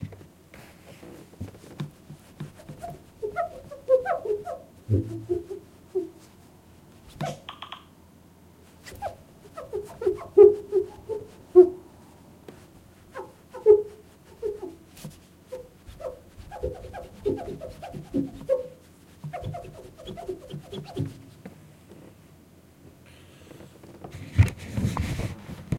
Wiping a window with a cloth 0.0 - 6.4
Wiping a window with a cloth 8.8 - 11.7
Wiping a window with a cloth 12.6 - 21.4

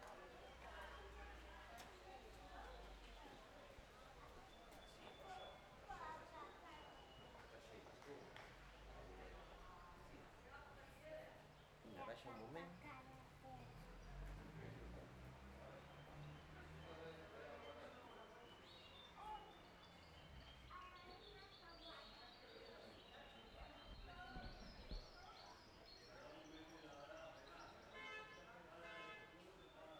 People pass by on the street 0.0 - 29.9
birds singing 15.6 - 28.5

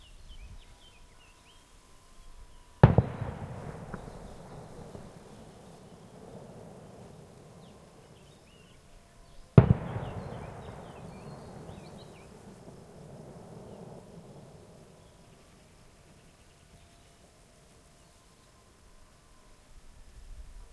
bird singing 0.0 - 19.6
faint church bells 0.7 - 9.6
two large firework cracks rolling along the hillside 2.8 - 8.5
two large firework cracks rolling along the hillside 9.5 - 15.5
faint church bells 10.4 - 20.7

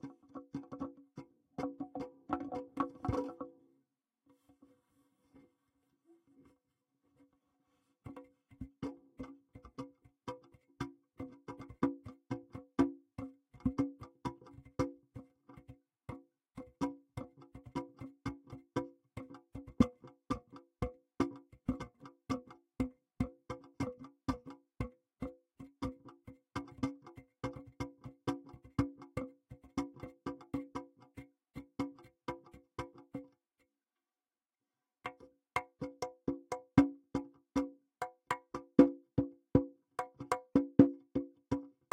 CONGA PIPE 0.0 - 3.5
CONGA PIPE 35.0 - 41.9

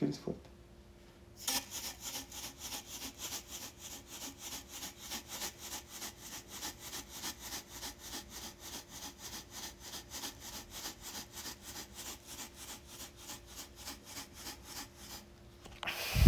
agitated breathing cartoon 15.9 - 16.2

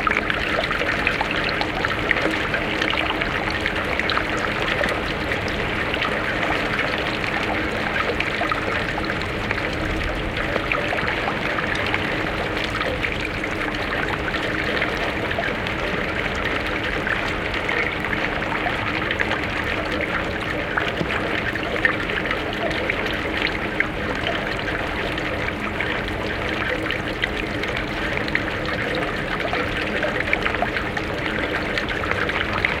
Water flowing through the drainpipe 0.0 - 32.8

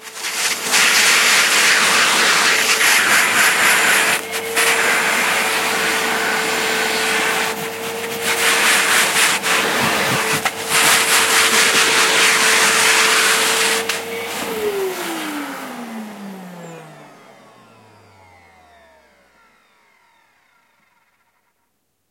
vacuum clean 0.0 - 21.5

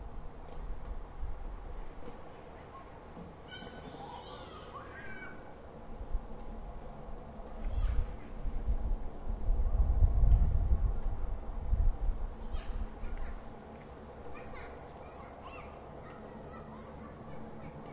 Kids playing nearby 2.0 - 5.8
people chatting 2.3 - 5.4
slight wind mic noise 5.8 - 14.4
Kids playing nearby 7.4 - 8.7
Kids playing nearby 12.4 - 17.9
people chatting 12.4 - 13.5
people chatting 14.2 - 17.9

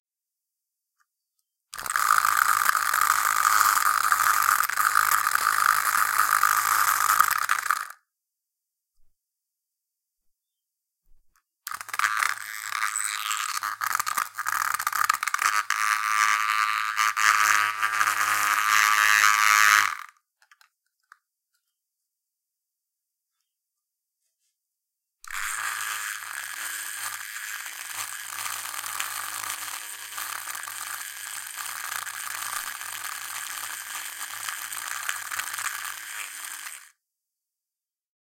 Vibrating a spray can's lid 1.8 - 8.0
electric razor 1.8 - 8.0
Vibrating a spray can's lid 11.7 - 20.2
electric razor 11.7 - 20.2
Vibrating a spray can's lid 25.3 - 36.9
electric razor 25.3 - 37.0

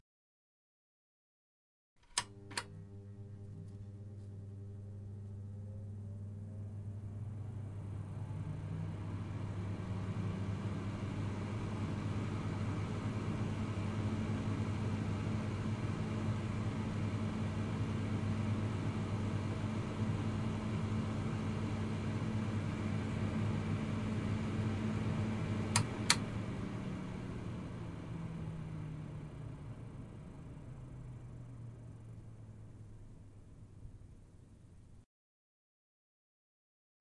fan 2.0 - 35.0

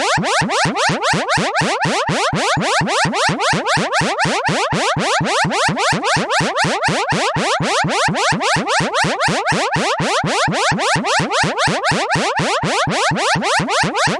Cartoon-like siren 0.0 - 14.1

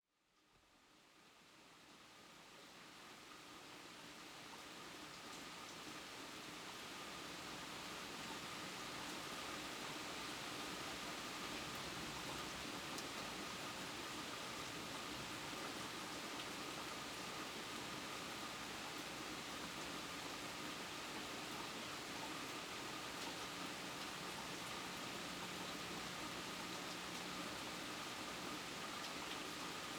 light rain hitting the deck and nearby trees 0.4 - 29.9
water dripping in a nearby gutter 7.6 - 29.9

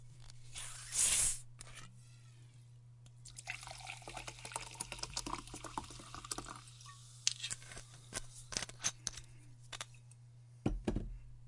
filling a glas 3.3 - 7.2

